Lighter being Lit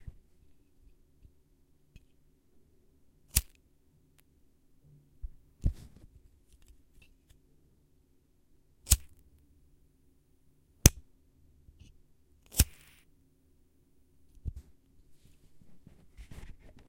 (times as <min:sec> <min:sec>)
0:03.3 0:03.5, 0:08.9 0:09.1, 0:12.5 0:13.1